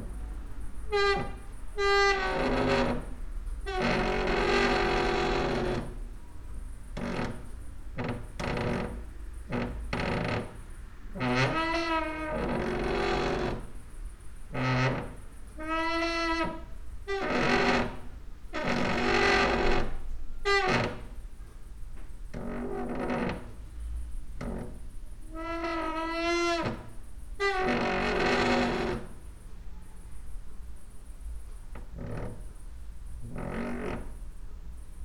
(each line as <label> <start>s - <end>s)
cricket 0.0s - 35.0s
creaky lullaby 0.9s - 6.0s
creaky lullaby 6.9s - 13.8s
creaky lullaby 14.5s - 21.2s
creaky lullaby 22.4s - 23.6s
creaky lullaby 24.4s - 29.2s
creaky lullaby 33.2s - 34.3s